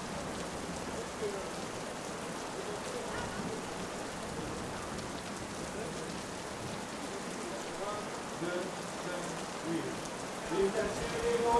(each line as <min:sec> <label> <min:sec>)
0:00.0 rainy night 0:11.5